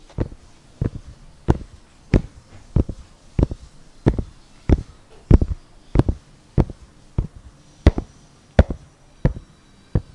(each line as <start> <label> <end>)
0.0 shoe silulating steps 9.4